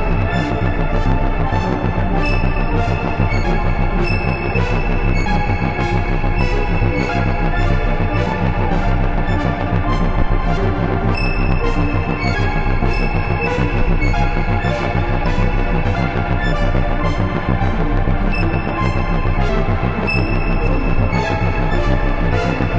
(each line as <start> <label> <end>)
0.0 bass 22.7